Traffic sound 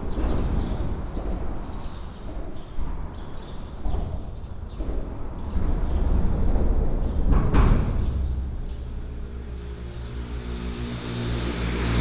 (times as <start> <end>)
8.3 12.0